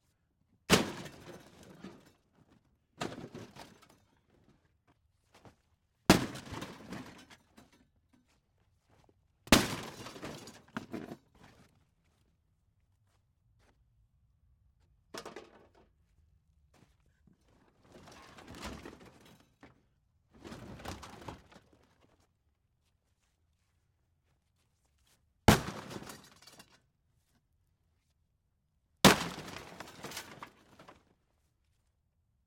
0.7s Hitting a broken metal dishwasher with a sledge-axe 1.8s
25.5s Hitting a broken metal dishwasher with a sledge-axe 26.8s
29.0s Hitting a broken metal dishwasher with a sledge-axe 30.5s

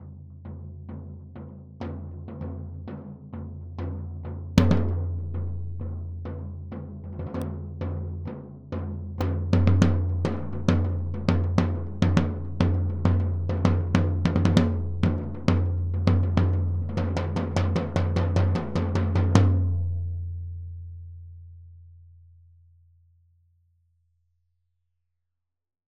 0.0s floor tom- loose beat 20.4s

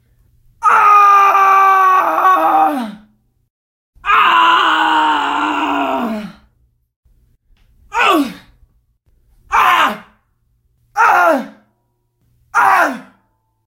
0.6s Male Screams 3.1s
4.0s Male Screams 6.5s
7.9s Male Screams 8.6s
9.5s Male Screams 10.2s
11.0s Male Screams 11.7s
12.5s Male Screams 13.2s

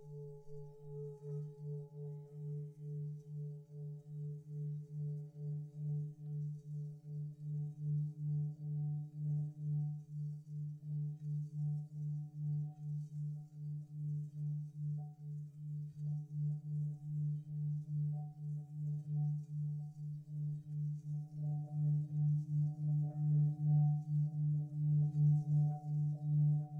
0.0s Mixed Tibetan bowls, of different pitches 26.7s

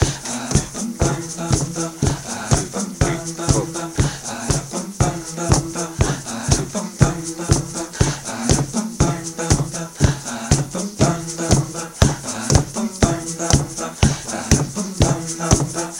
0.0s drum beat 15.9s
0.0s voice 15.9s

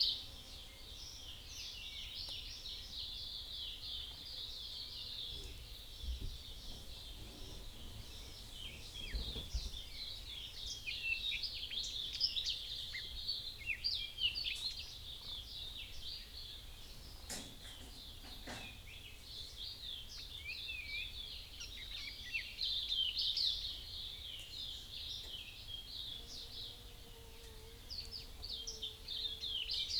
0.0s birds dawn chorus 29.9s

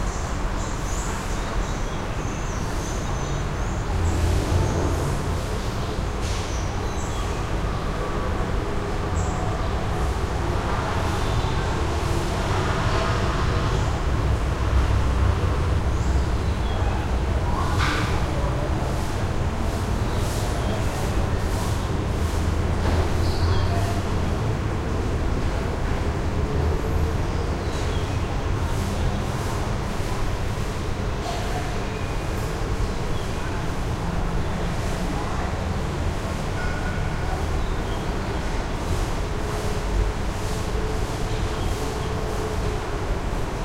0.0s traffic 43.6s
0.0s voices 43.6s

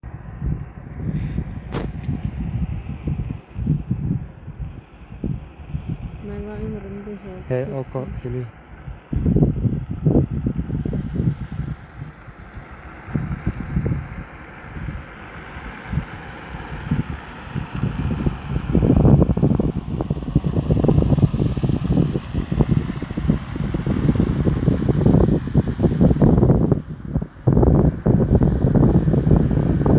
0.0s car 29.9s

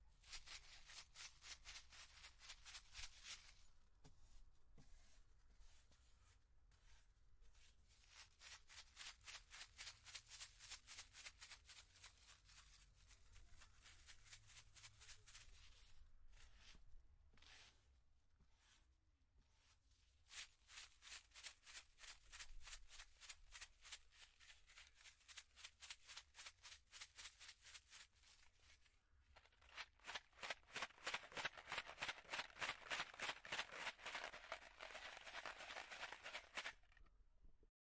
29.6s Salt sachet spicing something 36.7s

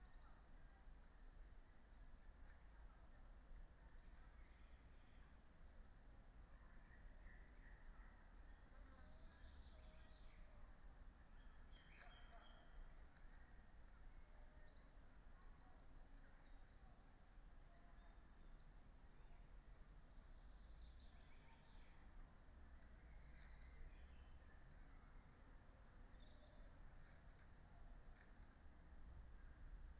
27.0s dry, crackling textures 28.8s

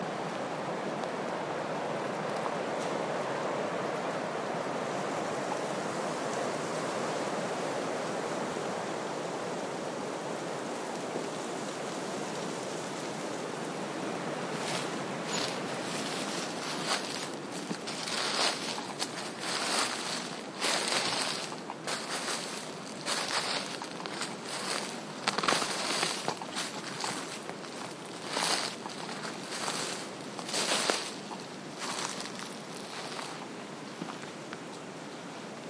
0.0s wind in trees (pines) 35.6s
13.8s someone walks on dead leaves 34.3s

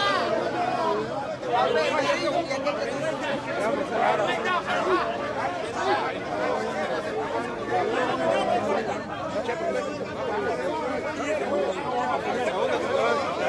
0.0s men shouting arguing 13.4s

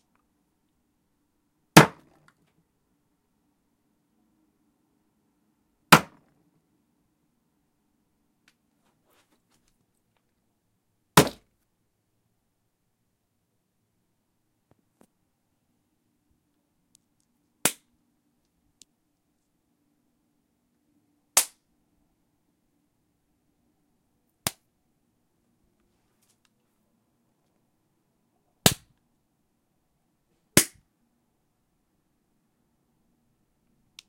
1.8s SLAP WOOD SMACK BODY 2.1s
5.9s SLAP WOOD SMACK BODY 6.2s
11.2s SLAP WOOD SMACK BODY 11.4s
30.6s SLAP WOOD SMACK BODY 30.8s

